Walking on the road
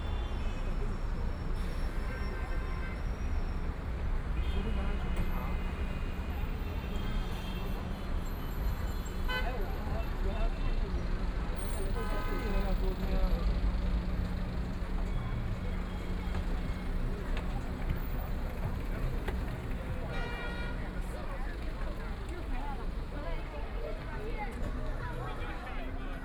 12.2s 26.2s

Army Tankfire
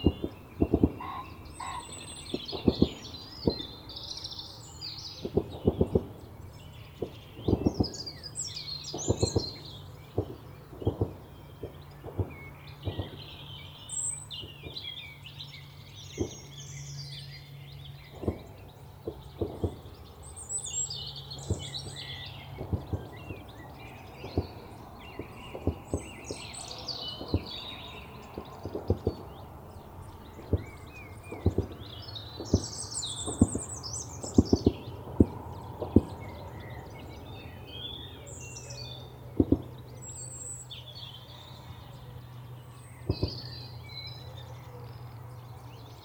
0.0s 3.9s, 5.0s 6.3s, 7.0s 15.1s, 16.0s 16.6s, 18.0s 20.8s, 21.4s 29.4s, 30.3s 36.7s, 39.4s 40.3s, 43.0s 43.6s

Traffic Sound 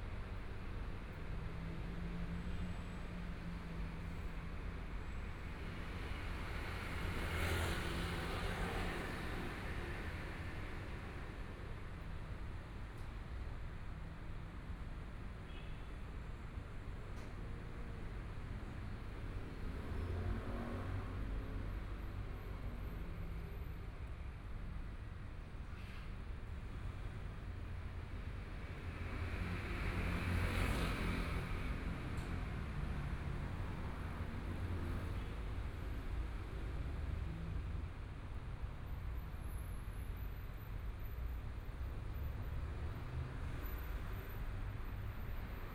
15.9s 45.7s

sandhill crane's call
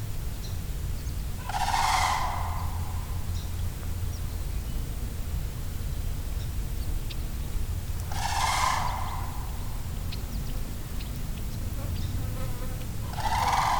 1.4s 3.6s, 7.9s 11.0s, 12.8s 13.7s

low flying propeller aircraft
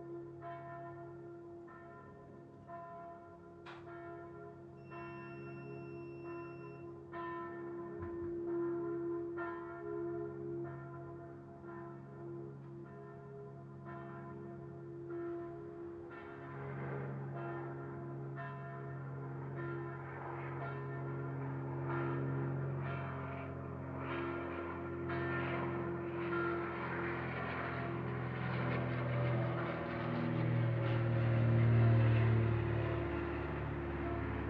15.5s 34.4s

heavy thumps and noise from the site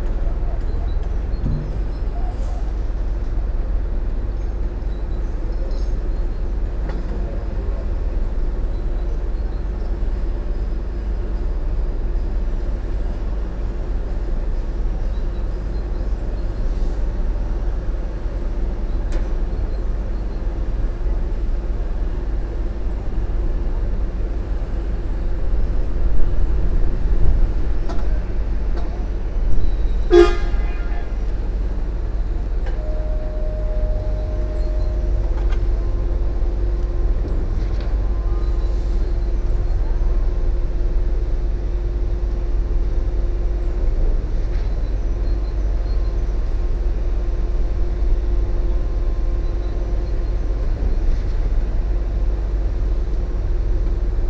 0.0s 3.4s, 25.9s 29.7s

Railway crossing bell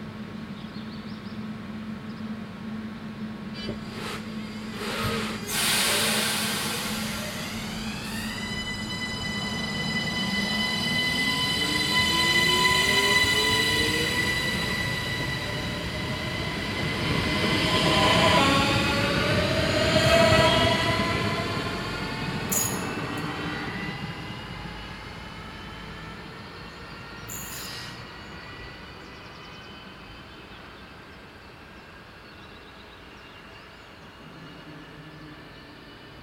22.5s 23.4s, 27.2s 28.1s

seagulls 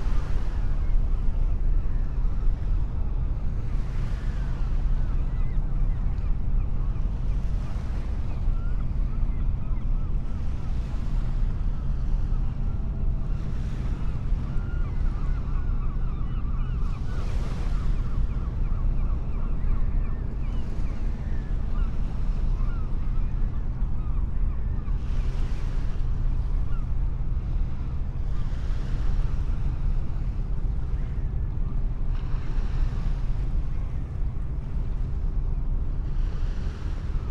14.5s 25.4s

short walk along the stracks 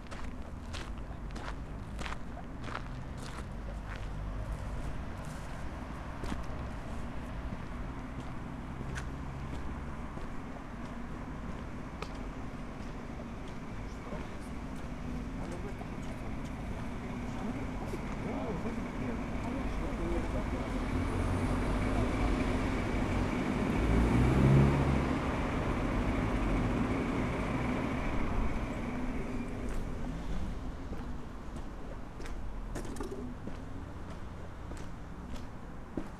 0.0s 20.5s

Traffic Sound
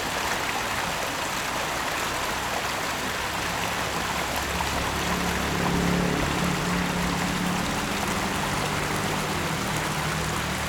2.2s 10.6s

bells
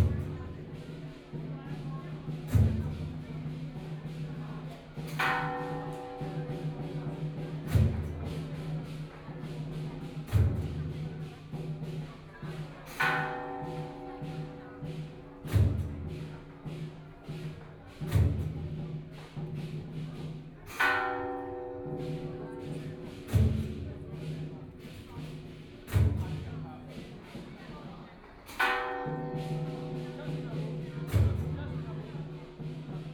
28.5s 33.1s

